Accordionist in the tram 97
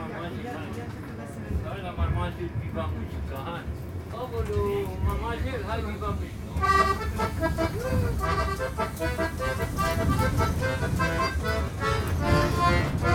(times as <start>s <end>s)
5.2s 13.1s